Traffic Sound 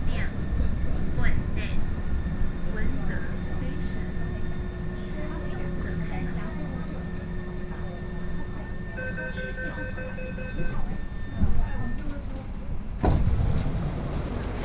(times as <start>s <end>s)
13.0s 14.6s